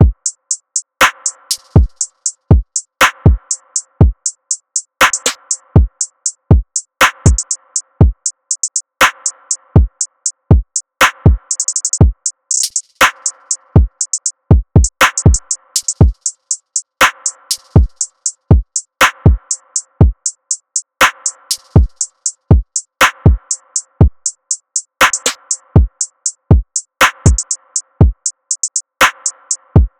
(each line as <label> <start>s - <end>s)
snare 1.0s - 2.2s
snare 3.0s - 3.2s
snare 5.0s - 5.5s
snare 7.0s - 7.4s
snare 9.0s - 9.4s
snare 11.0s - 11.8s
snare 12.5s - 13.6s
snare 15.0s - 16.0s
snare 17.0s - 18.2s
snare 19.0s - 19.2s
snare 21.0s - 22.2s
snare 23.0s - 23.2s
snare 25.0s - 25.5s
snare 27.0s - 27.4s
snare 29.0s - 29.6s